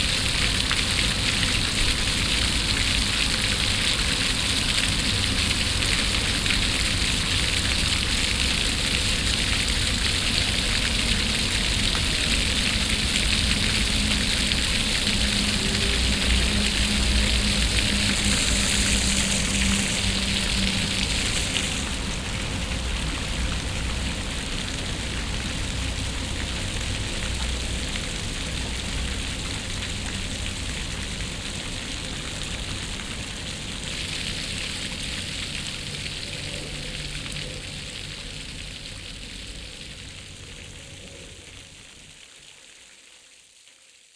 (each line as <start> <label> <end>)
0.0 water fountains 43.4